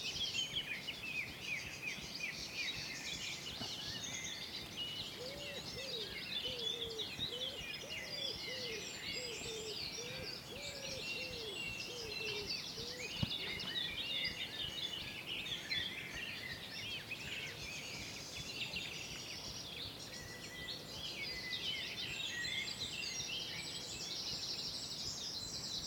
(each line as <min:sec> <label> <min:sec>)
0:05.1 Cuckoo 0:14.4